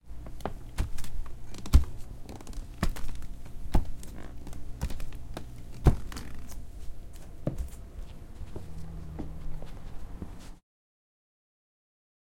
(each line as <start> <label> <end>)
0.1 Bare feet walking on a hardwood floor 10.6